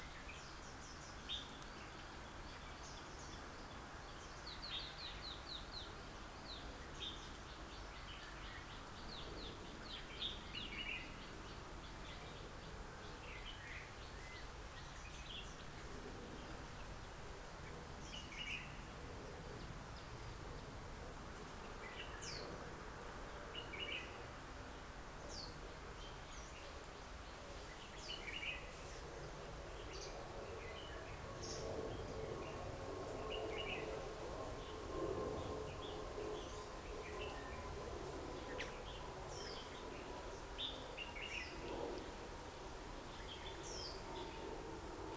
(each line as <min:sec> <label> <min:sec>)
0:21.6 different kind of bird songs 0:22.6
0:25.2 different kind of bird songs 0:42.2
0:43.0 different kind of bird songs 0:44.6